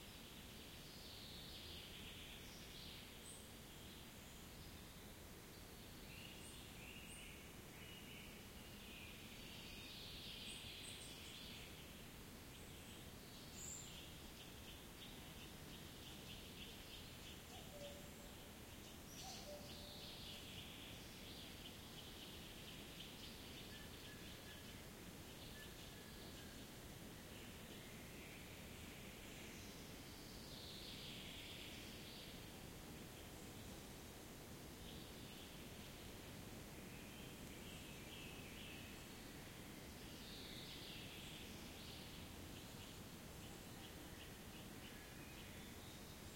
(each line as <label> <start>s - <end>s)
birds 6.2s - 33.9s